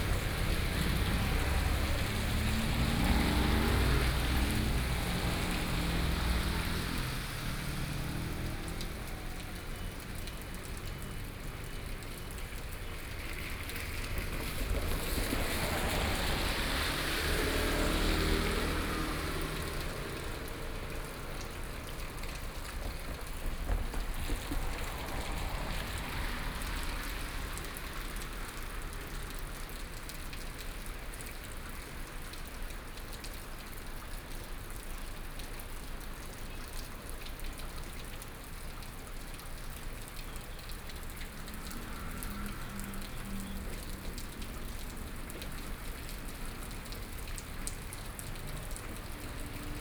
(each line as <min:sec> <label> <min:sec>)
0:00.0 traffic sounds 0:49.8